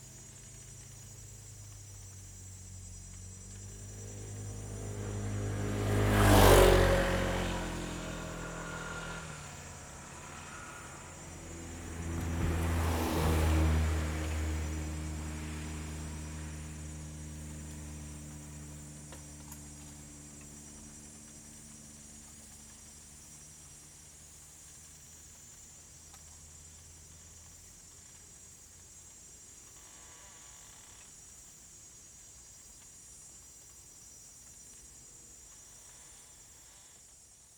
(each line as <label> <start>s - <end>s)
Traffic Sound 2.8s - 21.2s